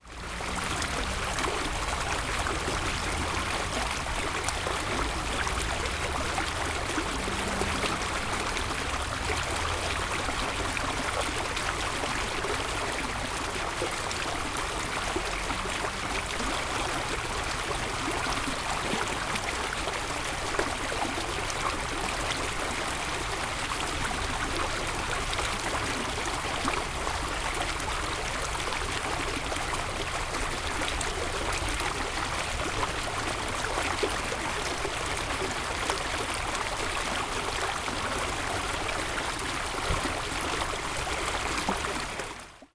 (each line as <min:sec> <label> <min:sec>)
0:00.0 Small stream 0:42.7
0:00.1 carpark and street background sounds 0:13.8